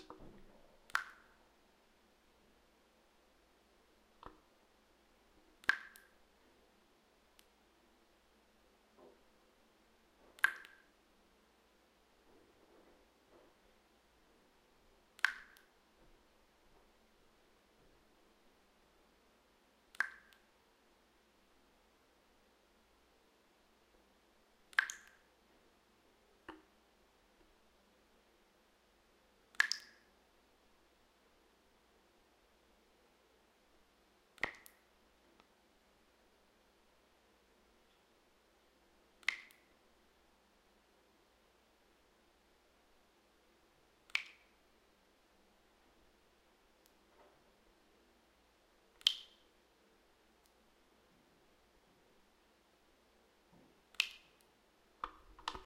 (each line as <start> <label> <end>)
0.0 Faucet dripping water into a sink 1.4
5.6 Faucet dripping water into a sink 6.2
10.4 Faucet dripping water into a sink 11.0
15.2 Faucet dripping water into a sink 15.8
19.9 Faucet dripping water into a sink 20.5
24.7 Faucet dripping water into a sink 25.3
29.5 Faucet dripping water into a sink 30.1
34.4 Faucet dripping water into a sink 34.8
39.2 Faucet dripping water into a sink 39.7
44.1 Faucet dripping water into a sink 44.6
49.0 Faucet dripping water into a sink 49.5
53.9 Faucet dripping water into a sink 55.6